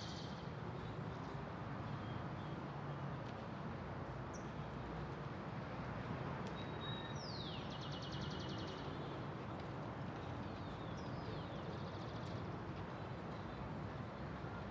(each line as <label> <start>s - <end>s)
very little traffic of cars, buses 0.0s - 14.7s
wind 0.0s - 14.7s